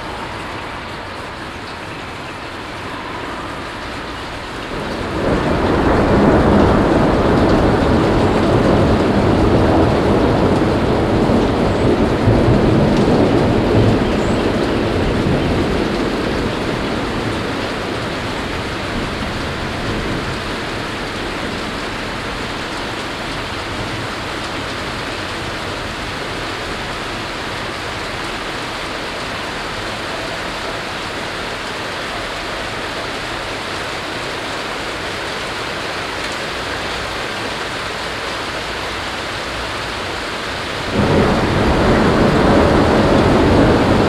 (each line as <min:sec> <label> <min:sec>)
0:00.0 passing by cars in the distance 0:08.1
0:00.0 hailstorm 0:44.0